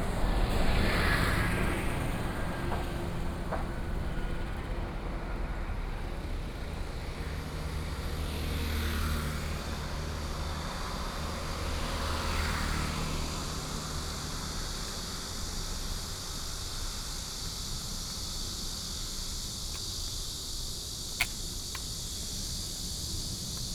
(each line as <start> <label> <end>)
0.0 Traffic Sound 23.7
12.7 walking on the Road 23.7